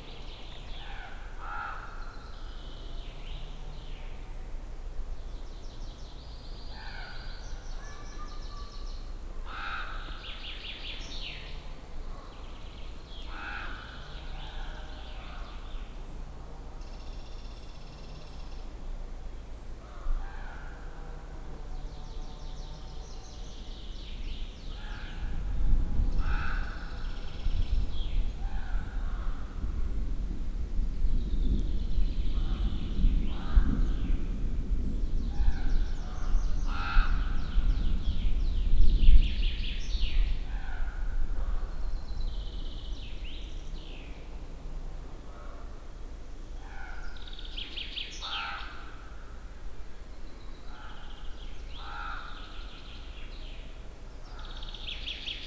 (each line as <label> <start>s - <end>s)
crows chasing each other and yapping 13.3s - 14.9s
crows chasing each other and yapping 26.2s - 26.9s
crows chasing each other and yapping 51.8s - 52.4s